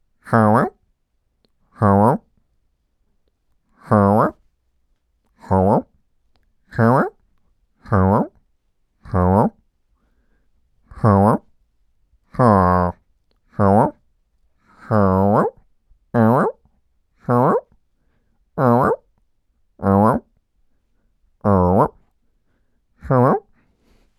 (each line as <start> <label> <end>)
3.8 mid20s male voice-acting 4.4
23.0 mid20s male voice-acting 23.4